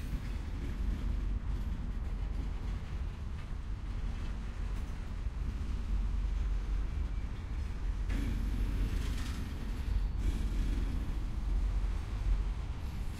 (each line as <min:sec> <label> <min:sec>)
0:00.0 engine 0:13.1
0:00.0 locomotive pulls up directly in front of my location 0:13.1